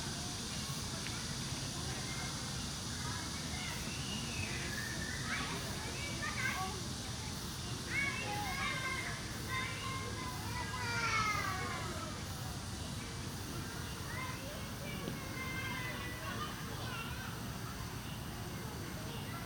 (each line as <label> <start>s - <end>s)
cicada 0.0s - 19.4s
childrens playing traditional games 7.8s - 19.4s